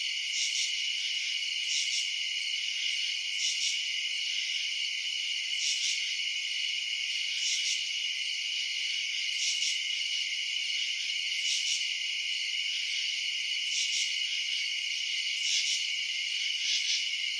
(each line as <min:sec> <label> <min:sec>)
0:00.0 crickets 0:17.3